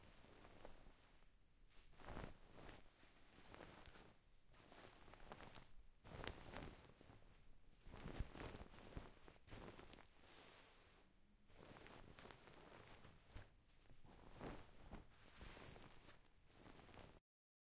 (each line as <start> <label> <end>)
0.0 Bed Sheets Rustling 17.2